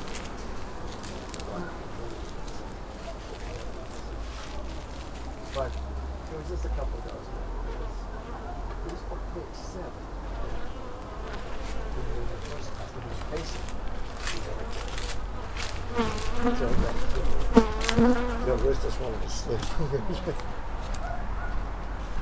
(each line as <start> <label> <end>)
0.0 high grass 7.9
0.0 people 21.5
10.1 high grass 22.2
15.9 bees 18.4